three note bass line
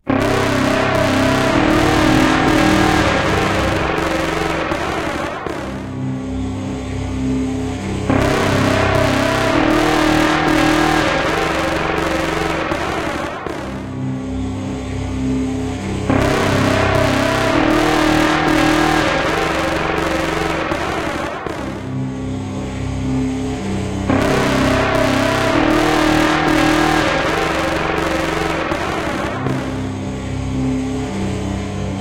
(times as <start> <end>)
0.0 12.6, 15.5 20.6, 24.1 30.0